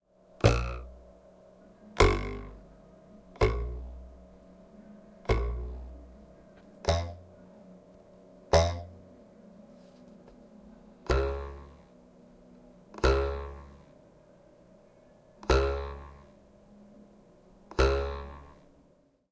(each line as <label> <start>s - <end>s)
ruler twang 0.4s - 1.0s
ruler twang 2.0s - 2.6s
ruler twang 3.4s - 4.1s
ruler twang 5.3s - 6.0s
ruler twang 6.8s - 7.3s
ruler twang 8.5s - 8.9s